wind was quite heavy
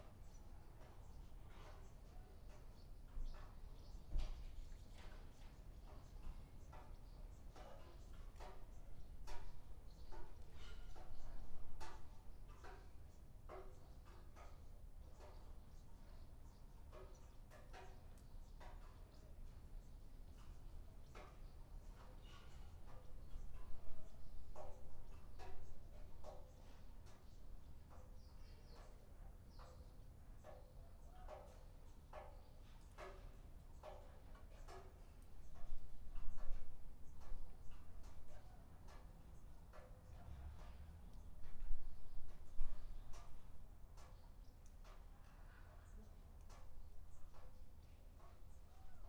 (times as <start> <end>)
34.6 44.1